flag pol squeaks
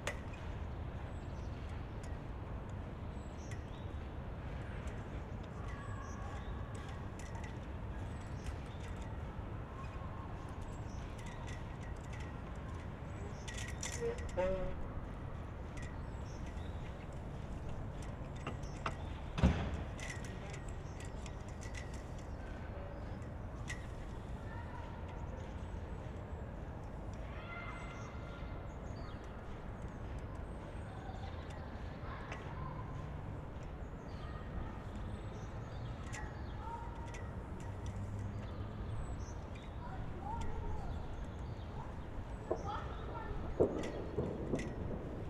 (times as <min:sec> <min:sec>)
0:13.8 0:14.8